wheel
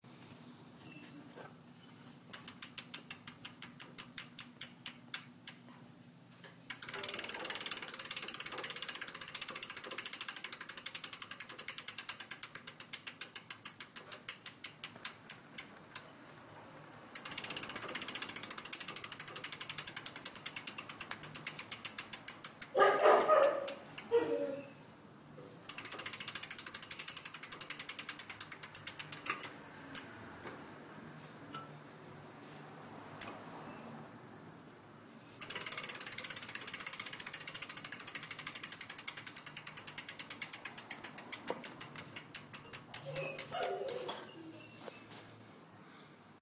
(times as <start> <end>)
6.7 16.2, 17.2 24.2, 35.4 45.2